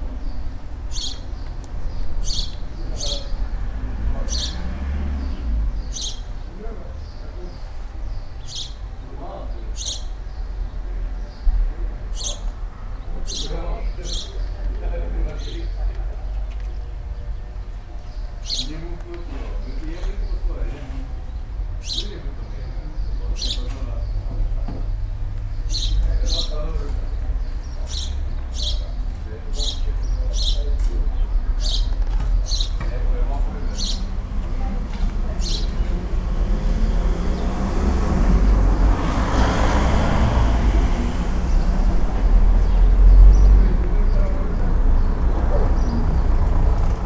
0.0s group of man talking behind the fence 47.0s

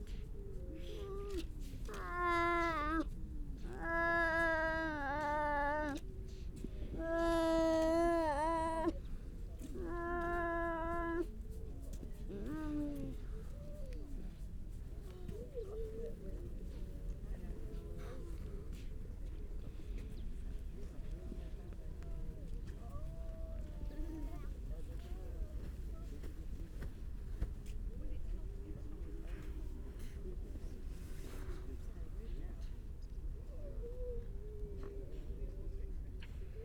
0.2s grey seals 9.0s
1.3s grey seal pup call 3.0s
3.7s grey seal pup call 6.0s
7.0s grey seal pup call 8.9s
9.6s grey seals 11.3s
9.8s grey seal pup call 11.2s

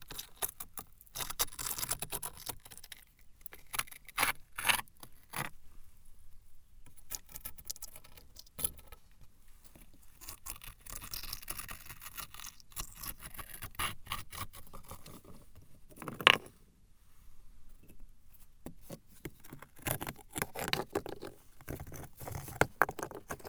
15.9s playing with the stones 16.6s
19.5s playing with the stones 23.4s

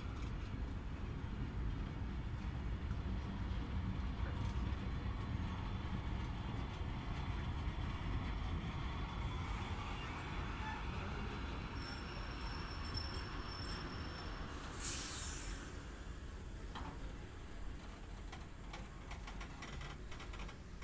0.0s Train Arriving 20.8s

